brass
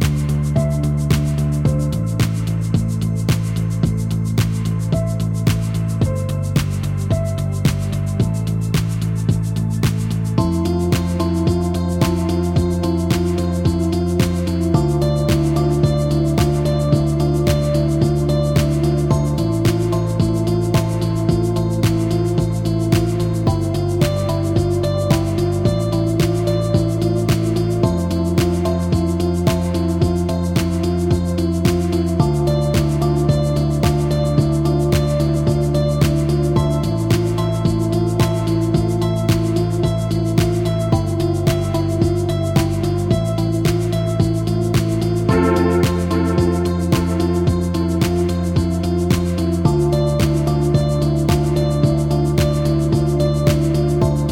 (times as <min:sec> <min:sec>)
0:45.3 0:48.2